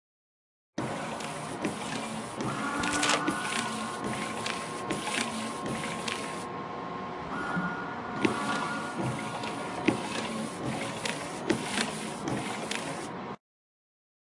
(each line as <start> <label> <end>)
0.8 electric car REAR WINDOW WIPERS 6.4
8.2 electric car REAR WINDOW WIPERS 13.1